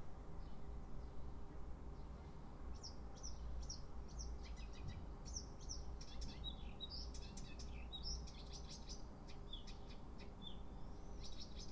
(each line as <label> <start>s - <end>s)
Birds singing in the morning 0.0s - 11.7s